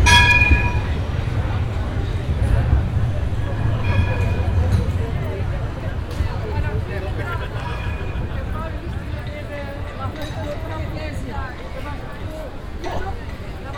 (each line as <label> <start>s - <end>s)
tourists 0.0s - 13.7s
trams passing by 0.0s - 13.7s